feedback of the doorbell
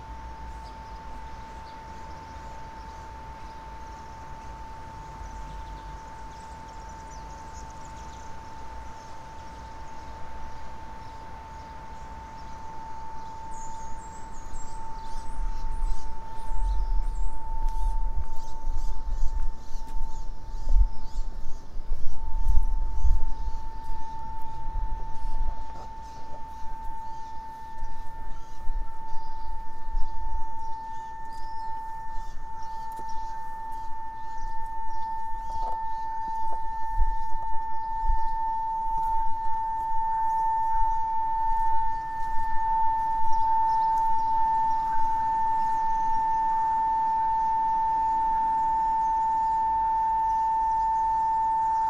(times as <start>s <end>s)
22.4s 51.8s